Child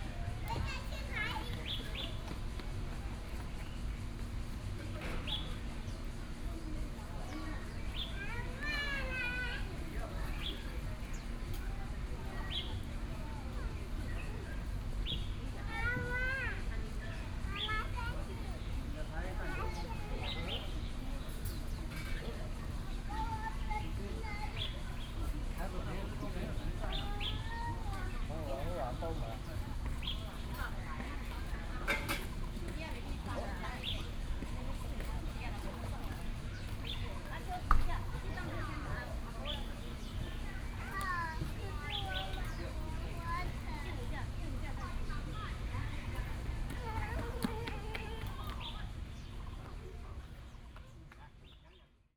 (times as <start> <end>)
0.4 1.7, 8.2 9.8, 15.7 16.8, 40.6 44.0, 46.7 48.8